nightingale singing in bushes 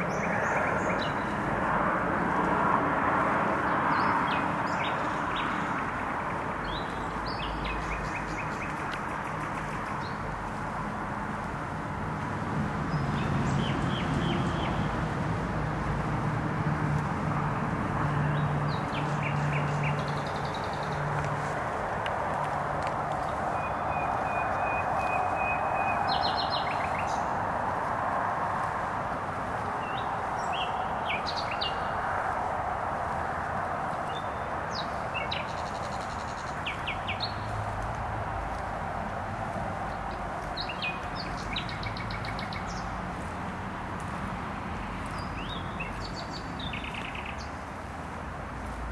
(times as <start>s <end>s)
0.0s 1.4s, 6.6s 10.3s, 18.2s 21.6s, 23.2s 27.6s, 29.6s 32.2s, 34.0s 37.6s, 39.9s 43.3s, 45.0s 47.6s